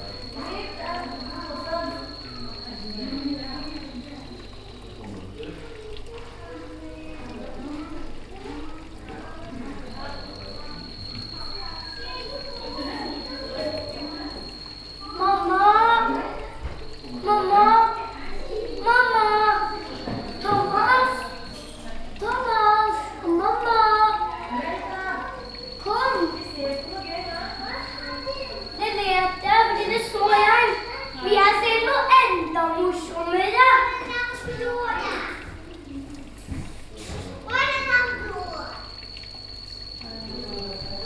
0.0s children 41.0s
0.0s reptiles 41.0s
0.0s water 41.0s

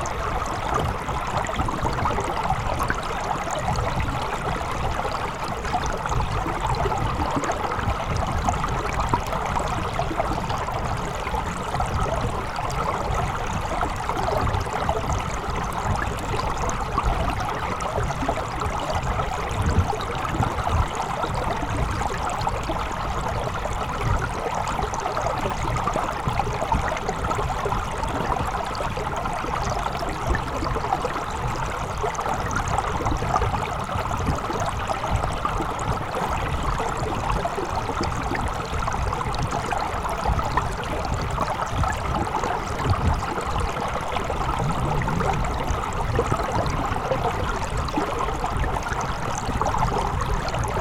0.0s river, recorded underwater 50.8s

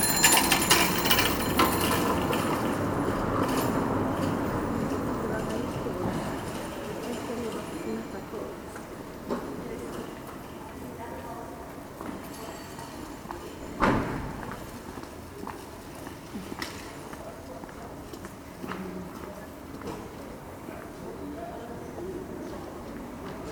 0.0s cars 10.5s
0.0s bikes 10.6s
0.0s local people passing by 23.5s

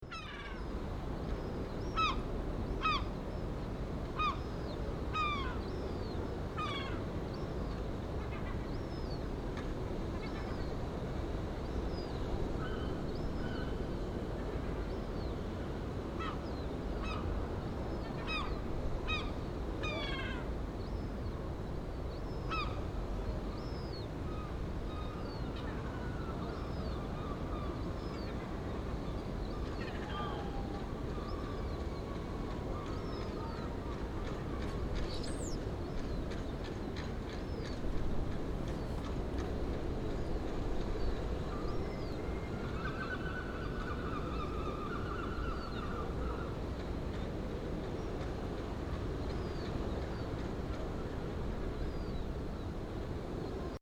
0.0s waves in distance 53.8s
0.1s Seagulls 0.7s
1.9s Seagulls 2.2s
5.1s Seagulls 5.6s
18.0s Seagulls 20.5s
22.4s Seagulls 22.8s
29.5s Seagulls 34.0s
41.5s Seagulls 46.6s

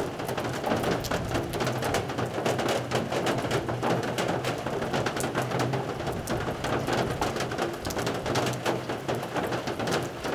0.0s rain drops on metal porch roof 10.3s
0.0s wind 10.3s

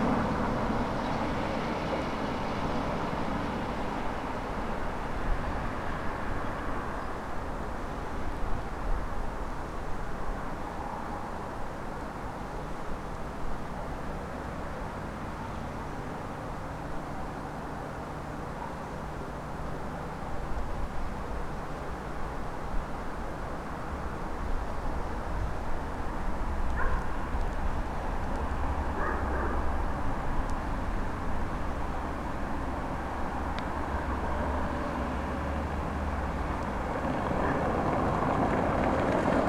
25.0s autos on stone pavement 39.4s

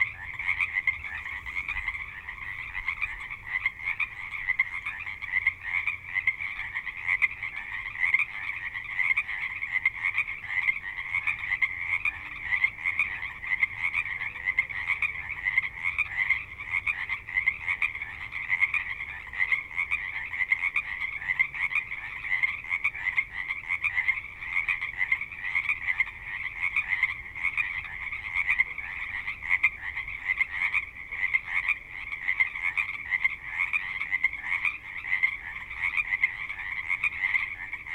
0.0s Frogs 37.9s

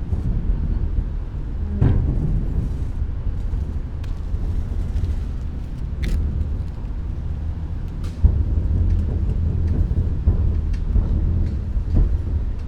3.4s river 8.1s
3.6s walking, clogs 8.1s

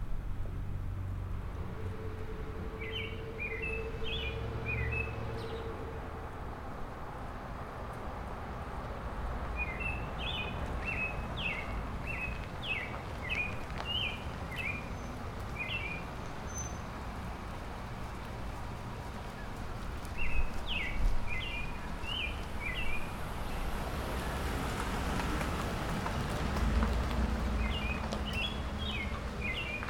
1.6s Robin singing 6.2s
9.6s Robin singing 16.9s
20.2s Robin singing 23.6s
27.6s Robin singing 29.8s

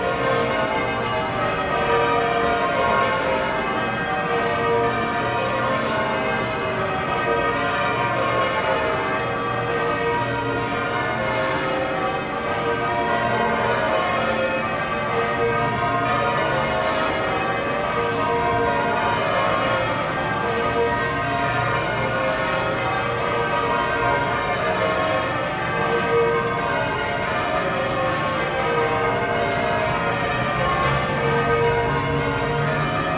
0.0s Bells 33.1s

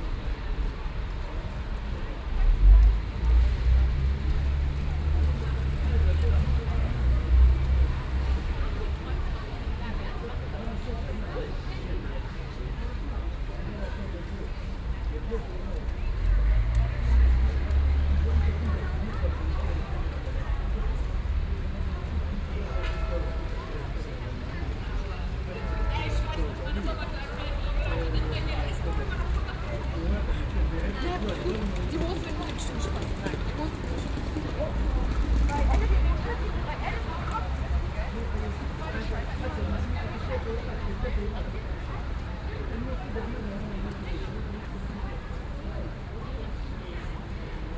0.0s rainy day 47.7s
16.0s cars are quite loud 30.9s

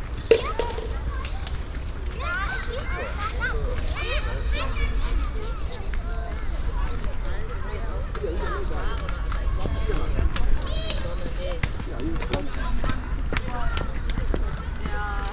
0.0s kids and parents 15.3s

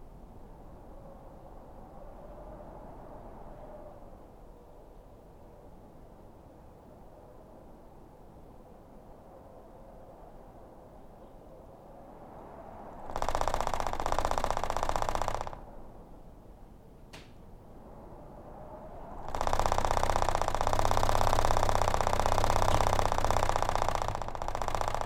0.0s Cold wind through garage door 25.0s

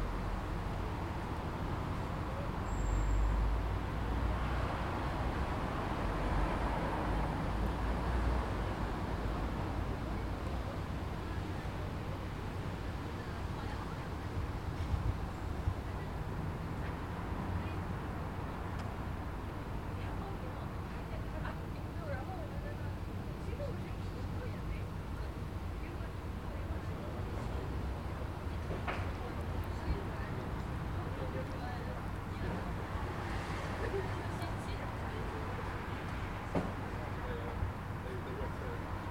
0.0s Road noise 39.1s
9.6s voices 39.1s

